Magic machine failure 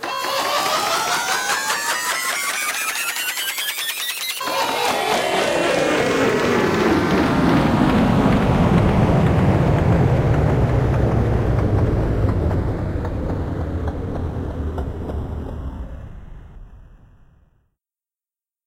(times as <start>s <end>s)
0.0s 8.9s